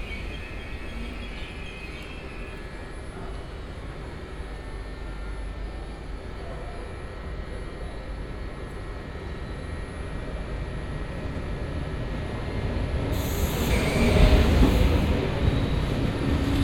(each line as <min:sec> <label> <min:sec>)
0:00.0 second train only passing 0:16.6
0:00.0 train arriving, idling and departing 0:16.6